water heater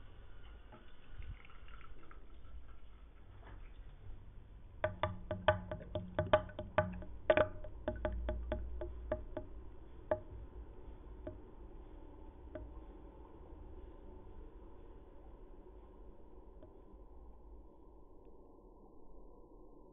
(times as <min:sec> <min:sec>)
0:00.0 0:09.5